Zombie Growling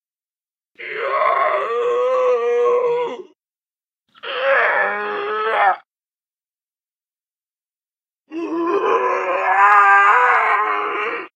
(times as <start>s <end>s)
8.4s 11.3s